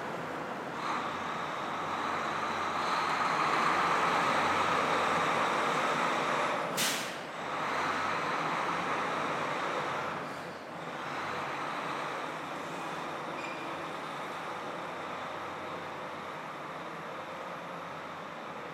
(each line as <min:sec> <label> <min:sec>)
0:00.0 traffic 0:18.7